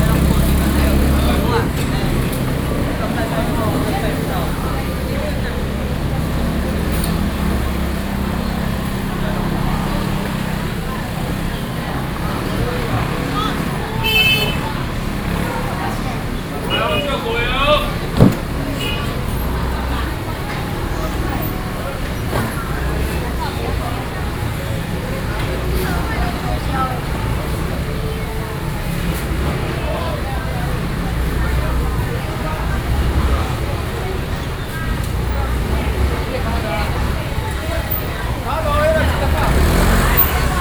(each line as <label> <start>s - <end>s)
Walking through the traditional market 0.0s - 40.6s